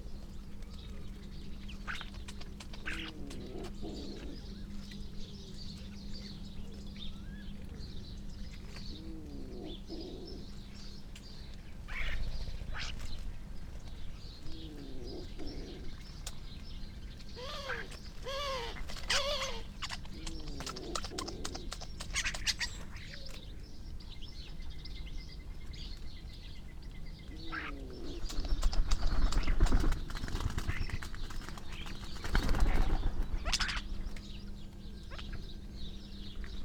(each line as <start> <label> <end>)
0.0 wood pigeon 23.7
0.0 collared dove 36.6
0.0 dry rolling and rippling calls and song from the starlings 36.6
2.7 crow 4.6
11.9 crow 13.1
17.4 crow 23.2
27.2 wood pigeon 36.6
27.4 crow 28.8